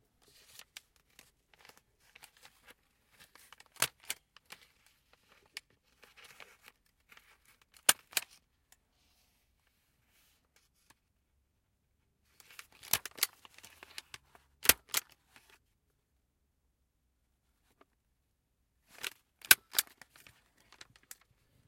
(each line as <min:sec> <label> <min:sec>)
0:12.7 Stapling papers with a metal stapler 0:15.1